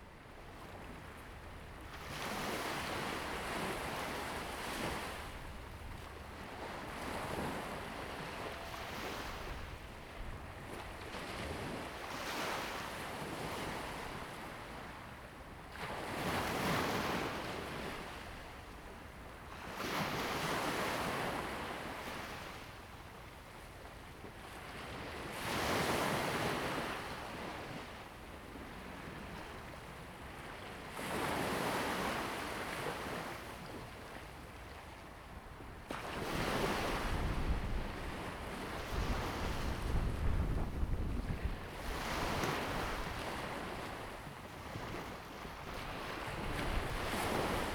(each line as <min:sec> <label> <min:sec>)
0:00.0 waves 0:47.7
0:00.0 wind 0:47.7